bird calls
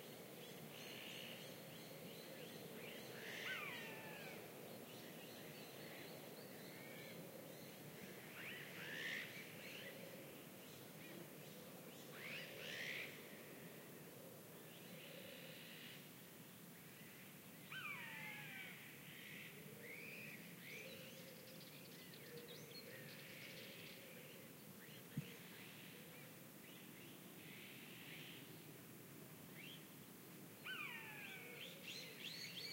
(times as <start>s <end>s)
30.6s 32.7s